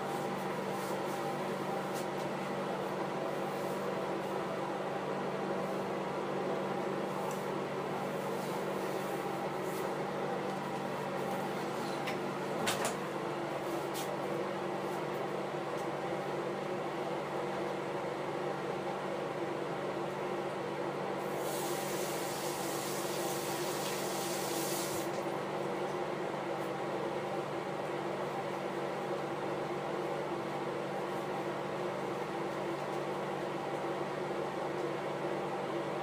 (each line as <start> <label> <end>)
21.2 Bathroom Cleaning 25.3